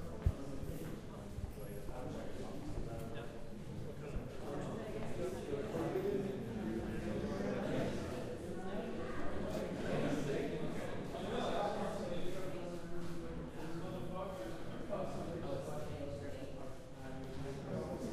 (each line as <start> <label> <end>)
0.0 chatter 18.1